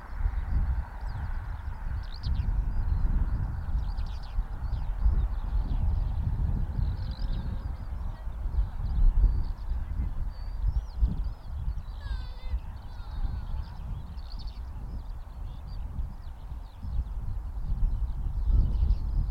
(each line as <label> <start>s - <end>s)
Birds 0.0s - 19.3s
children 12.0s - 13.9s